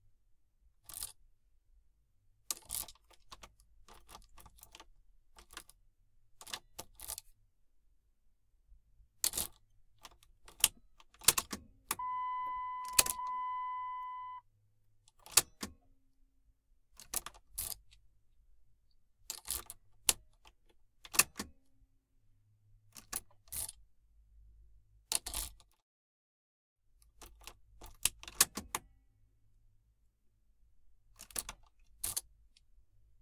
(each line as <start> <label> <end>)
11.2 Car key going in and out of ignition 14.4